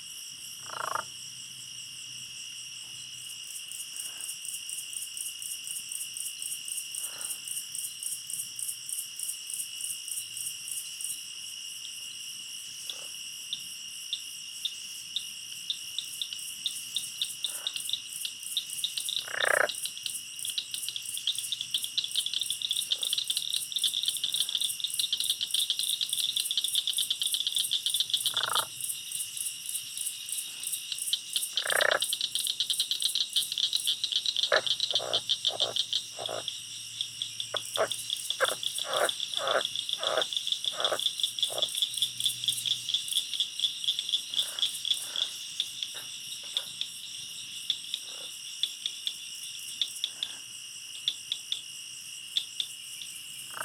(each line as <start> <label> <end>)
0.0 Insects 53.6
43.2 Reptiles 46.8